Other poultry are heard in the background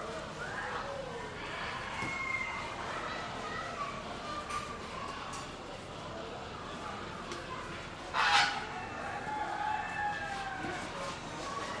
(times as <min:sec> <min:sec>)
0:00.7 0:02.9, 0:08.0 0:11.8